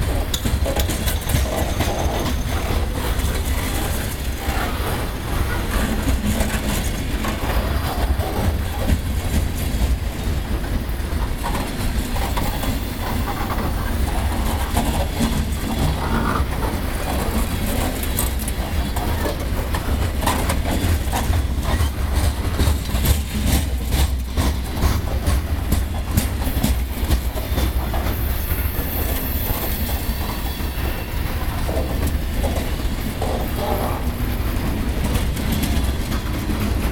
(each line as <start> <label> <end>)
0.0 complete train passing 36.9